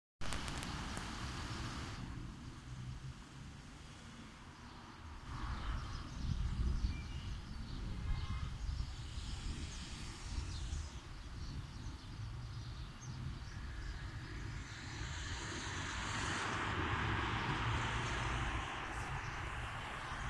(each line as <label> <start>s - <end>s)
Bus 0.2s - 20.2s
Cars 0.3s - 8.4s
Cars 13.3s - 20.2s